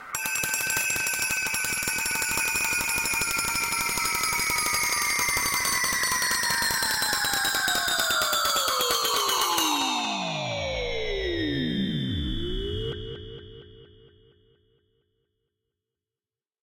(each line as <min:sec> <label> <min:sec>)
0:00.0 percussive sound that slowly falls in pitch 0:13.5